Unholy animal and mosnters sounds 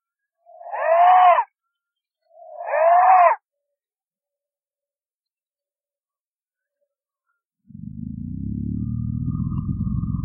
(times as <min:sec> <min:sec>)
0:00.4 0:01.6, 0:02.3 0:03.4